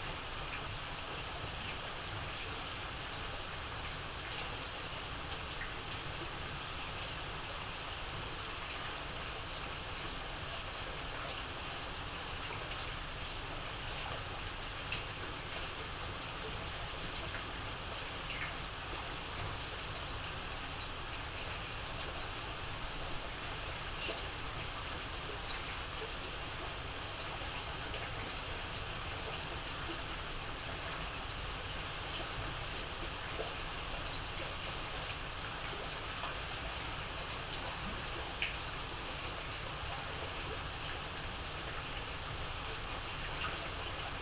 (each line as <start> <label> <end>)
0.0 rain at night 44.2